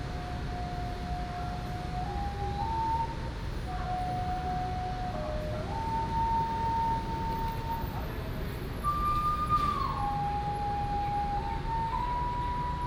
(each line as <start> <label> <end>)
0.0 Traffic Sound 12.8